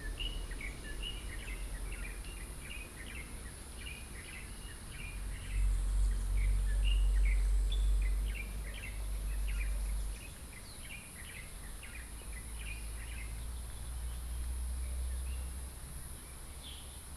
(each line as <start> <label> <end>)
0.0 Traffic noise 17.1